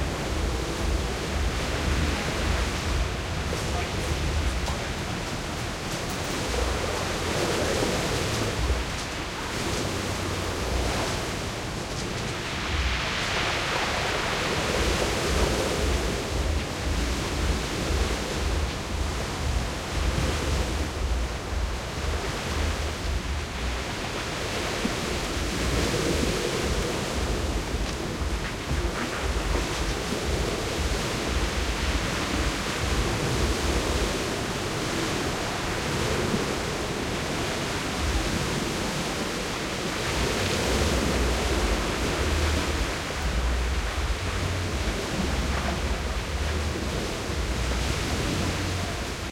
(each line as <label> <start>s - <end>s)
wind heavy tropical storm trees blowing 0.0s - 49.3s